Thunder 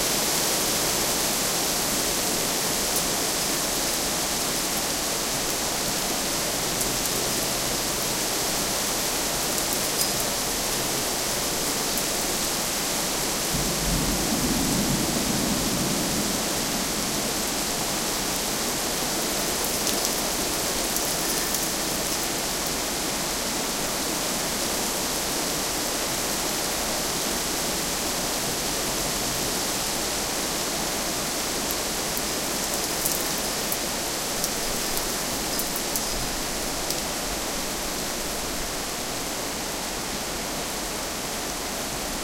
0:13.5 0:18.3

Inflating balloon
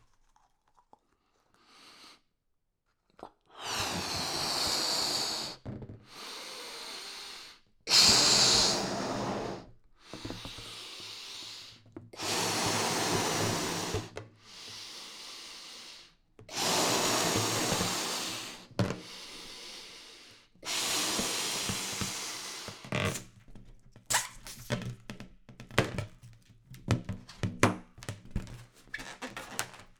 0:03.6 0:23.4, 0:24.1 0:24.8

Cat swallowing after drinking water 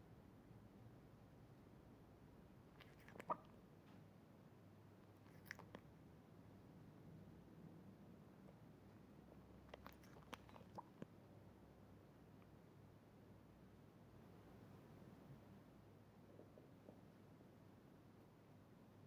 0:02.8 0:03.6, 0:05.1 0:05.9, 0:09.6 0:11.1

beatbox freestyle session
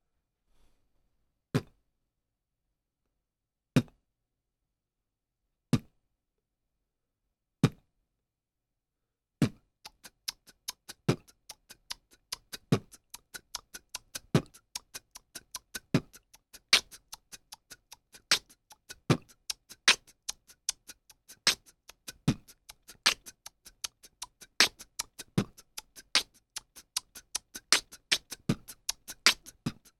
0:09.4 0:29.9

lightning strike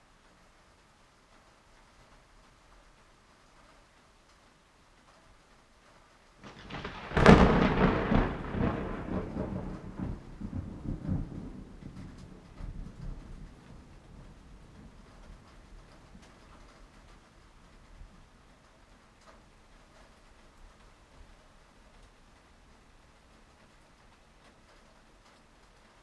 0:06.4 0:12.0

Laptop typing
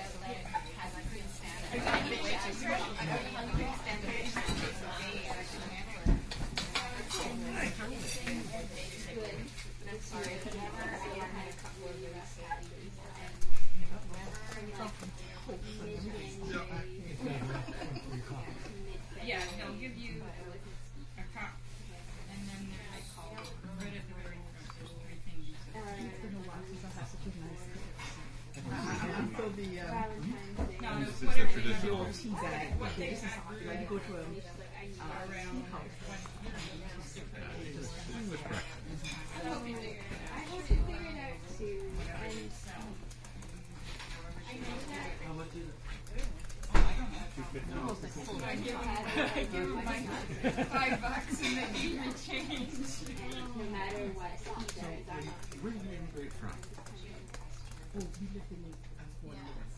0:54.6 0:55.6, 0:56.5 0:58.2

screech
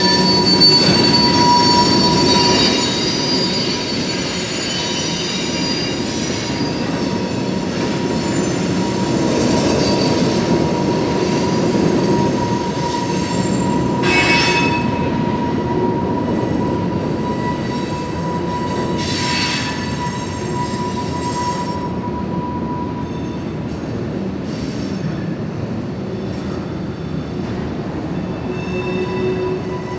0:00.0 0:22.0

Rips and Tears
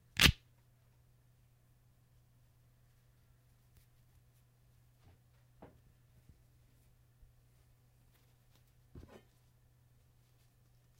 0:00.2 0:00.4

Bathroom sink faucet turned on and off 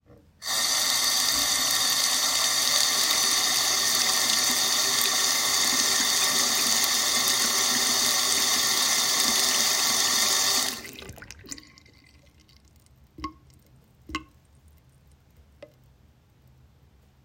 0:00.4 0:12.0

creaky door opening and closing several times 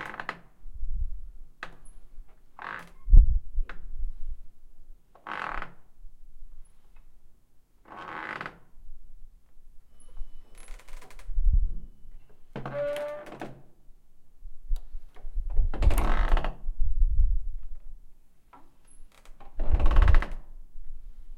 0:00.0 0:00.5, 0:02.6 0:03.1, 0:05.2 0:05.8, 0:07.9 0:08.7, 0:10.0 0:11.3, 0:12.2 0:13.7, 0:15.6 0:16.6, 0:18.8 0:20.5

